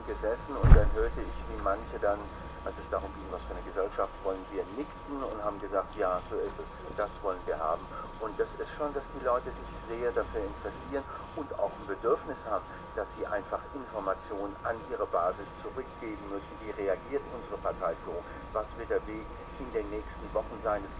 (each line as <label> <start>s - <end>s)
radio playing outside 0.0s - 20.9s